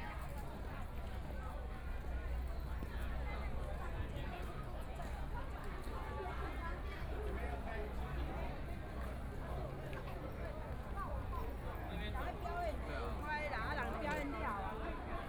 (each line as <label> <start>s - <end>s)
A lot of tourists 0.0s - 15.2s